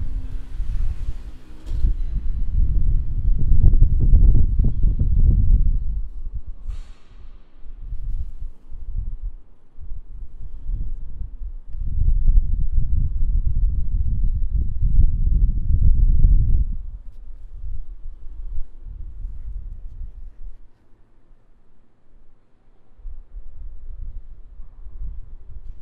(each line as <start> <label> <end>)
0.0 wasted sound coming from a big shipyard warehouse 11.6